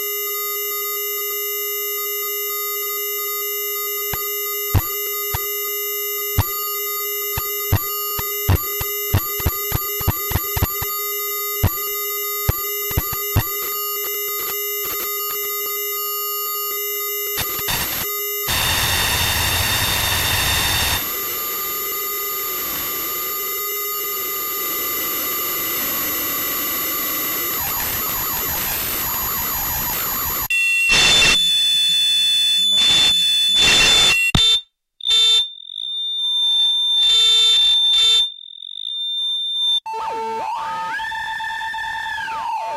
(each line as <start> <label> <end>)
7.3 static from a small radio 11.0
11.6 static from a small radio 15.8
17.3 static from a small radio 31.6